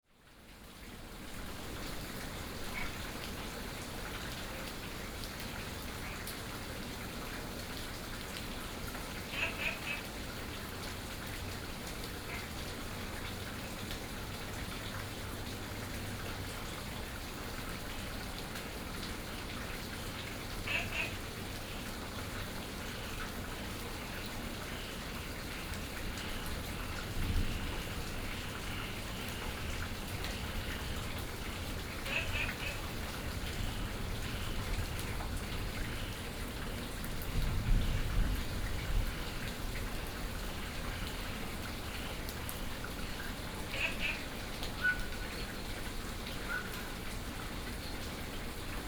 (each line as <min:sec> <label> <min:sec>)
0:09.3 Frogs chirping 0:10.1
0:20.6 Frogs chirping 0:22.1
0:22.8 Frogs chirping 0:34.9
0:35.7 Frogs chirping 0:36.4
0:40.5 Frogs chirping 0:45.6